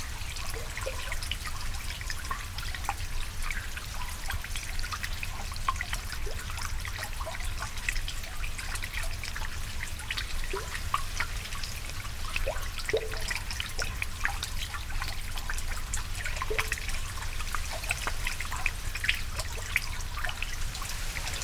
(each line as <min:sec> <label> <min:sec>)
0:09.9 water on one side easing over the barrier 0:21.4